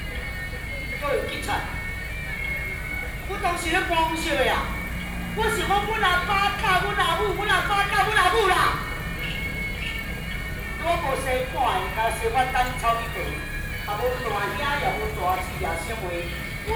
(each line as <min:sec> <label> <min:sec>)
0:00.0 Traditional theatrical performances 0:16.7